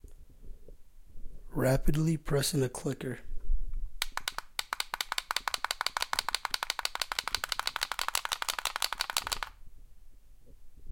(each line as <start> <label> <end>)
4.0 Rapidly pressing a clicker 9.6